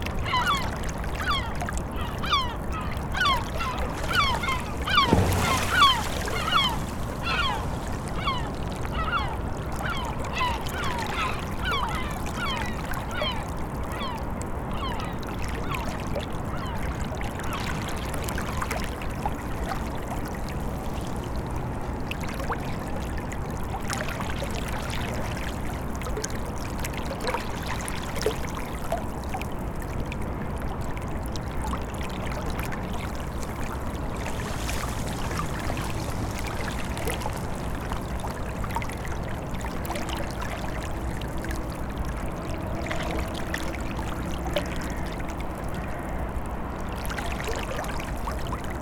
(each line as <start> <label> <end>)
0.0 river flowing past a melting frozen ice ridge 48.8
0.2 birds 13.4